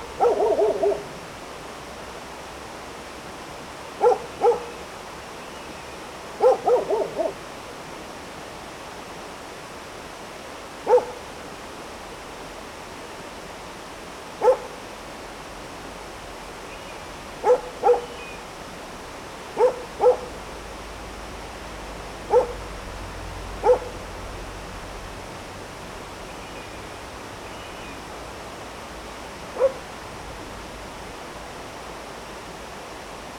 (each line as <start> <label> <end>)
0.2 barking dog 1.1
4.0 barking dog 4.8
6.4 barking dog 7.4
10.9 barking dog 11.2
14.4 barking dog 14.8
17.4 barking dog 18.1
19.6 barking dog 20.4
22.3 barking dog 22.7
23.6 barking dog 24.0
29.6 barking dog 29.8